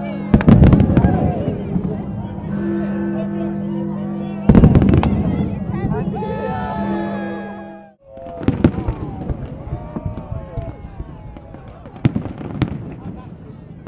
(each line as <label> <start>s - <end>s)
Big Ben 0.0s - 9.2s
fireworks 0.2s - 2.2s
fireworks 8.1s - 13.8s